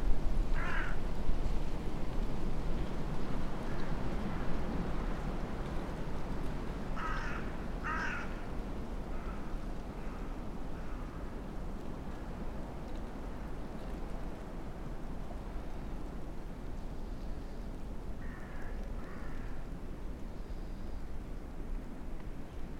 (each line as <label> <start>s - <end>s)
winds above and around 0.0s - 22.7s